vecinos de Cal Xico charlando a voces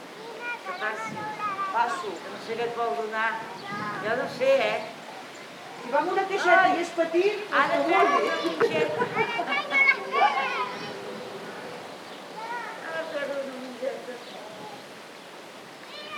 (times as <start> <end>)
0.2 11.8